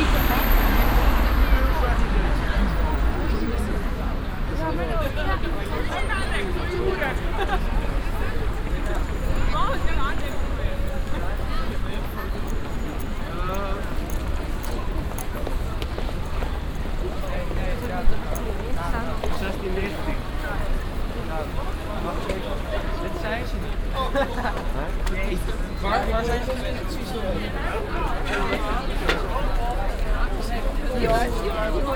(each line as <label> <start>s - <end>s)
chinesische touristengruppe 0.0s - 31.9s